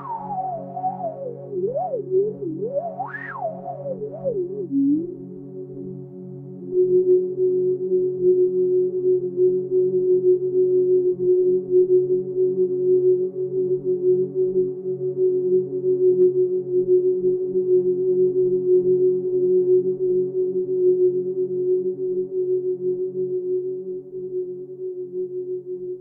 0.0s drone 6.0s

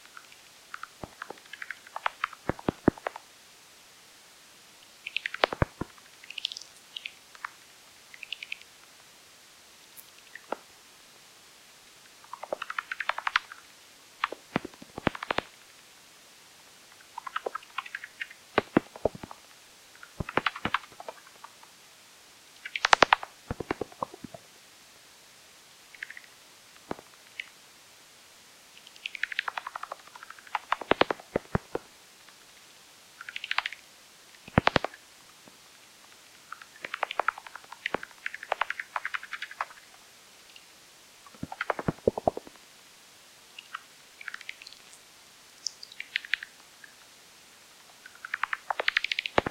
4.8s Bats 8.7s
12.2s Bats 15.6s
20.0s Bats 21.6s
22.6s Bats 24.4s
28.7s Bats 31.9s
34.4s Bats 35.0s
36.4s Bats 39.9s
41.3s Bats 42.6s
48.0s Bats 49.5s

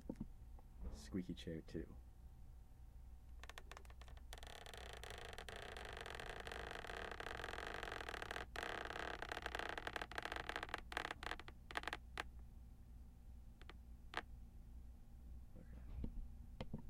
3.4s Leaning back in a squeaky chair 12.0s

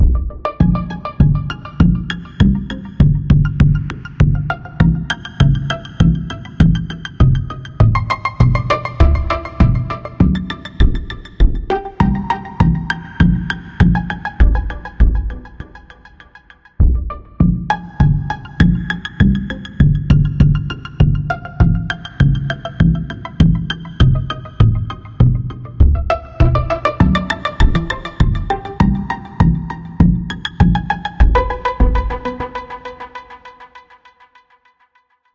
0.0s Drums 32.7s
0.0s Bass 32.8s
0.0s Synth music 34.0s

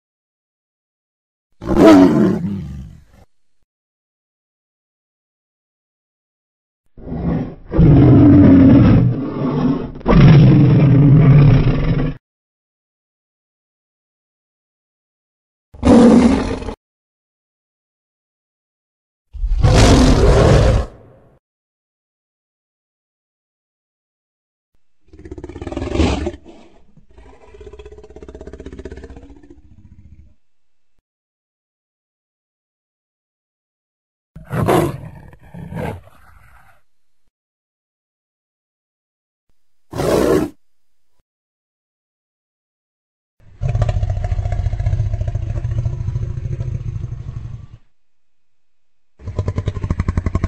1.6s Dinosaur Roars and Growls 3.3s
7.0s Dinosaur Roars and Growls 12.2s
15.8s Dinosaur Roars and Growls 16.8s
19.4s Dinosaur Roars and Growls 21.3s
25.0s Dinosaur Roars and Growls 30.4s
34.4s Dinosaur Roars and Growls 36.8s
43.5s Dinosaur Roars and Growls 47.9s
49.2s Dinosaur Roars and Growls 50.4s

